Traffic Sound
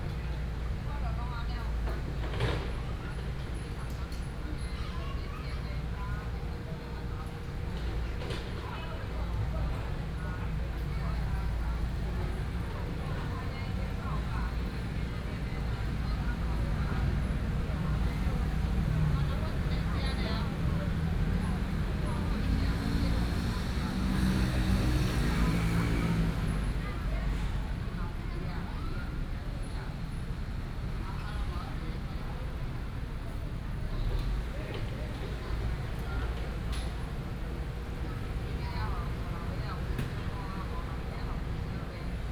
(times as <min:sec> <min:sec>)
0:10.5 0:42.3